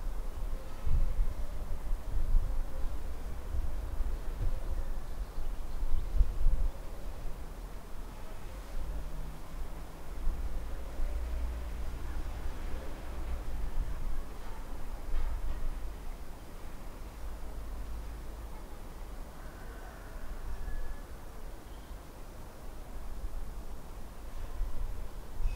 street 0:00.0 - 0:25.5

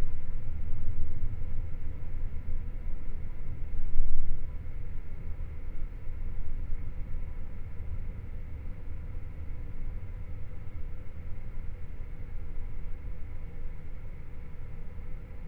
airconditioning 0:00.0 - 0:15.4

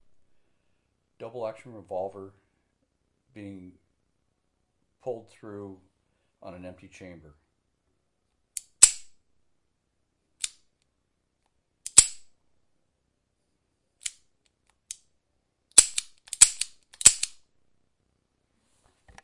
Double Action Revolver Empty Chamber 0:15.8 - 0:17.4

